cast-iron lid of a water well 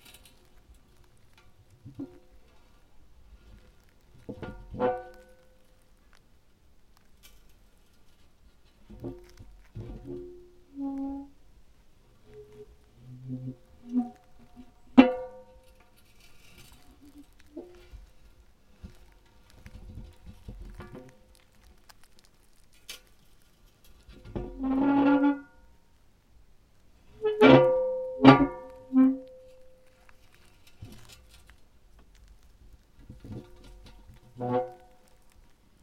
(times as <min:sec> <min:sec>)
0:04.3 0:05.3, 0:08.9 0:11.2, 0:12.3 0:18.0, 0:24.0 0:25.6, 0:27.1 0:29.7, 0:33.0 0:35.0